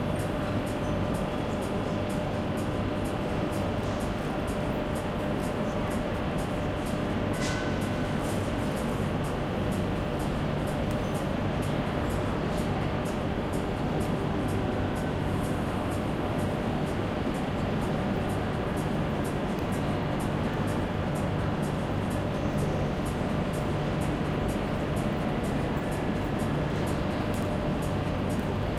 0.0s People buying in the shops 28.7s

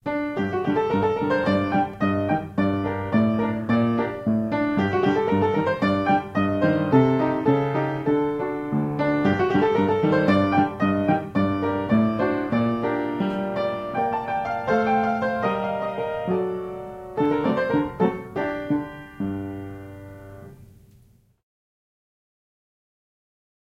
0.0s piano 21.4s

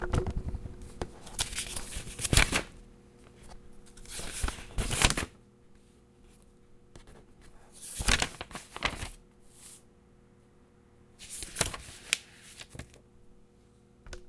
0.8s turning pages of a book with thick pages 9.9s
11.2s turning pages of a book with thick pages 13.0s

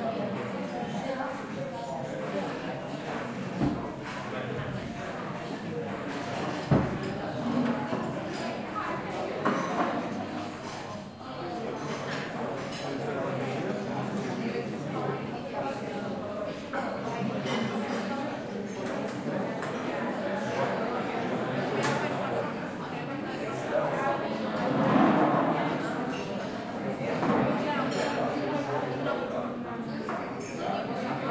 0.0s people at breakfast time 25.1s

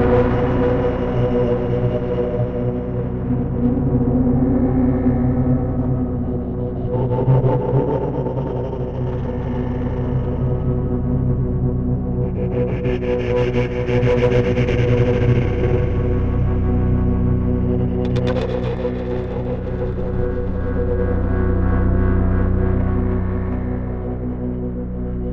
0.0s drone 25.3s

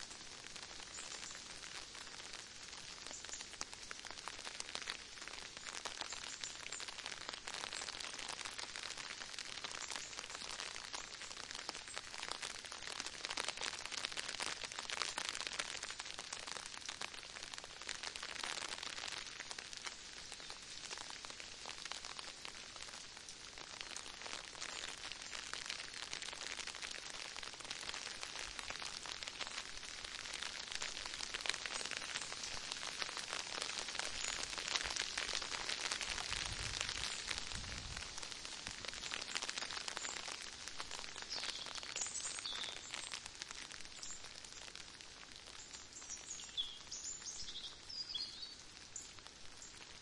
0.0s Rain trickling down on an umbrella 50.0s
0.0s wind 50.0s
41.2s birds are twittering 43.2s

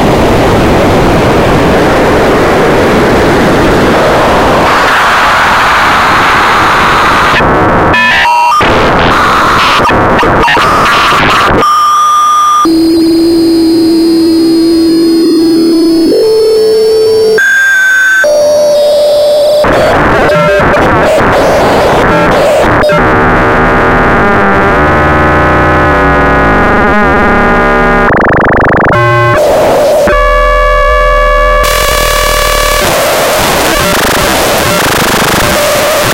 11.7s Lorenz attractor synth 20.6s
22.8s Lorenz attractor synth 36.1s

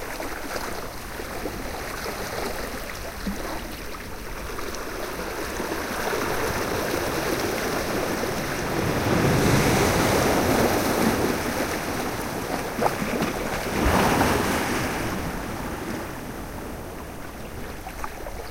0.0s Ocean waves 18.5s

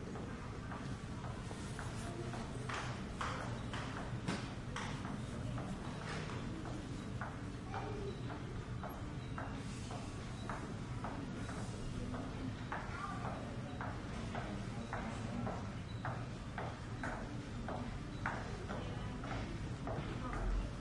0.0s people passing on a hard floor 20.8s

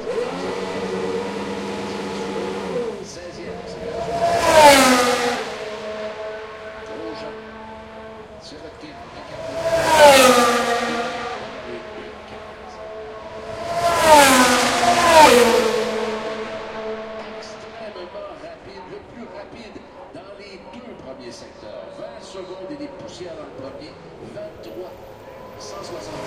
0.0s Formula one 19.1s

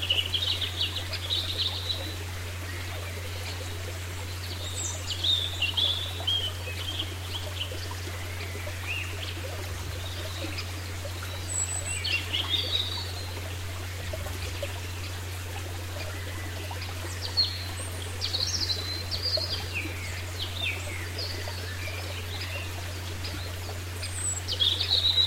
0.0s Birds singing 25.2s
0.0s a stream flows 25.2s

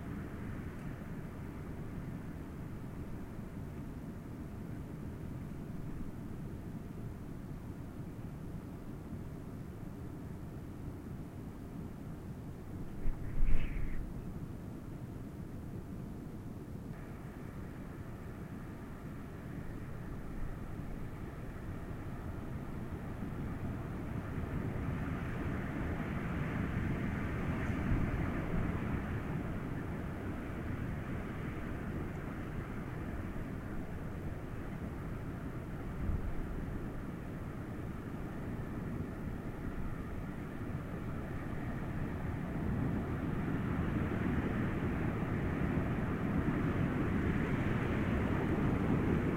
12.9s Wind howling 14.2s

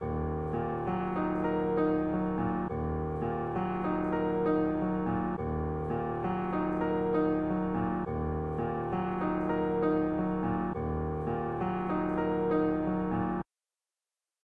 0.0s piano 13.5s

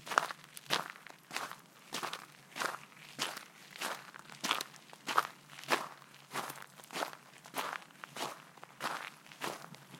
0.0s footsteps on gravel 9.9s

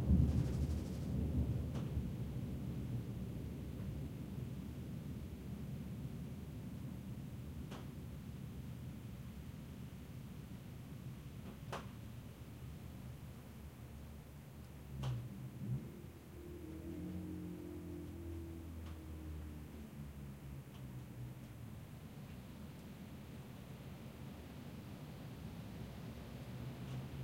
0.0s strong crack of Thunder 2.2s
0.0s Rain 27.2s
0.0s Wind 27.2s

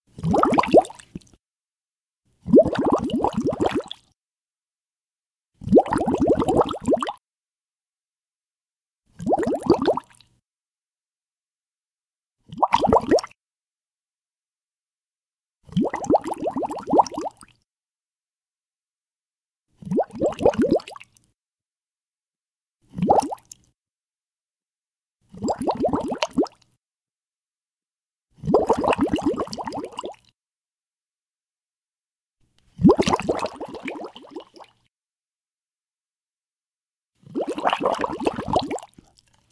0.1s Bubbles in water 1.3s
2.4s Bubbles in water 4.0s
5.6s Bubbles in water 7.2s
9.2s Bubbles in water 10.2s
12.5s Bubbles in water 13.3s
15.7s Bubbles in water 17.4s
19.8s Bubbles in water 21.0s
22.9s Bubbles in water 23.5s
25.4s Bubbles in water 26.6s
28.4s Bubbles in water 30.2s
32.8s Bubbles in water 34.7s
37.3s Bubbles in water 39.2s

